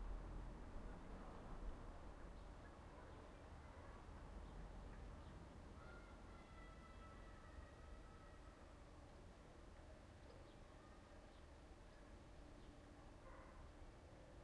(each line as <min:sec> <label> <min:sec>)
0:00.0 a few distant cars 0:14.4
0:13.0 dogs 0:13.8